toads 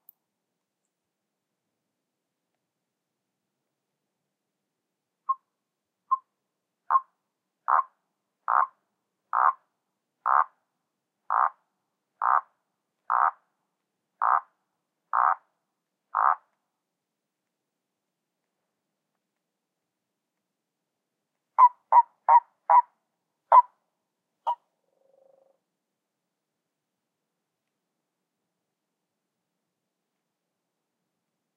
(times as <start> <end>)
7.7 7.9, 8.5 9.6, 10.2 10.5, 11.3 11.6, 12.2 12.5, 13.1 13.4, 14.2 14.5, 15.1 15.4, 16.1 16.4